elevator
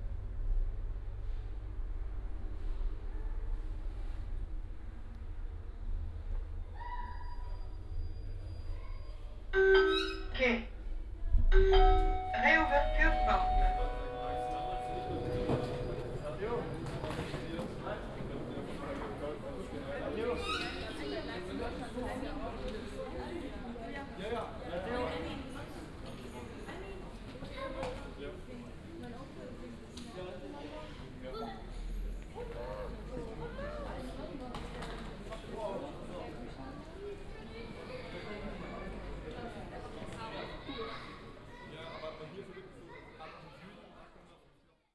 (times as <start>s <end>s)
9.6s 10.4s, 11.5s 19.2s